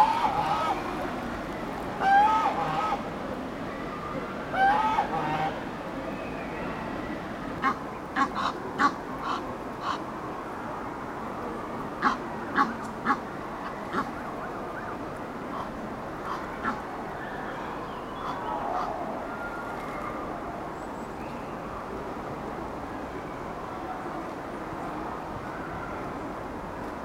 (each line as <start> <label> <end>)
0.0 emden goose 1.1
0.0 egyptian gooses on a pontoon 10.3
2.0 emden goose 3.0
4.5 emden goose 5.6
7.6 emden goose 10.1
11.3 egyptian gooses on a pontoon 27.0
12.0 emden goose 16.9